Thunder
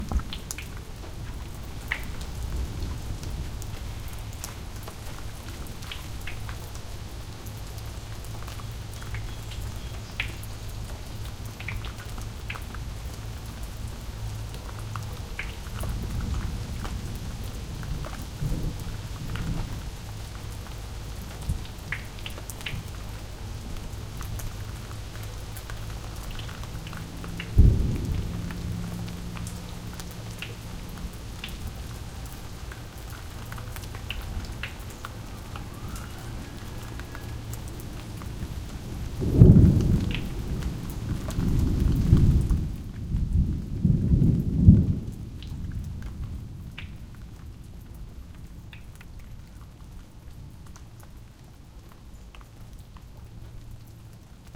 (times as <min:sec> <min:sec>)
0:27.5 0:29.6, 0:39.1 0:46.5